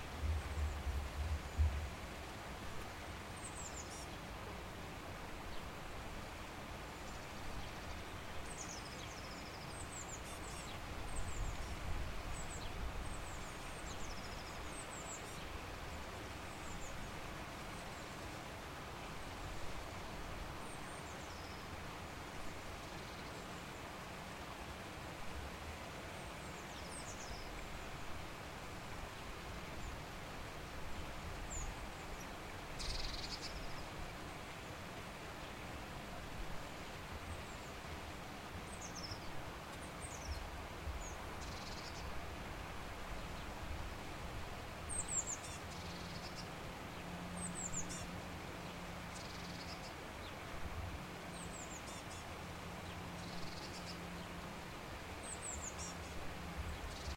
birds 2.8 - 4.4
birds 6.9 - 18.4
birds 31.0 - 35.6
birds 38.5 - 42.2
birds 44.8 - 50.5
birds 51.2 - 57.1

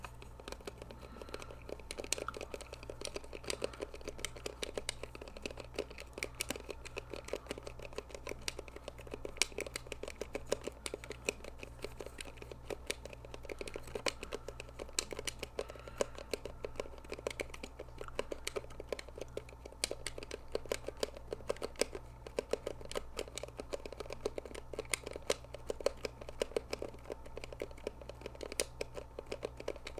Atari joystick fidgeting and playing 0.0 - 29.9

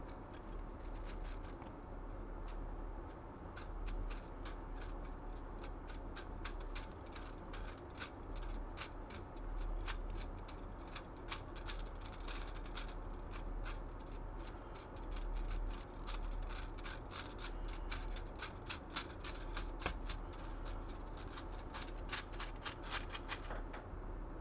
MCU Slinky, Movements 8.8 - 23.9

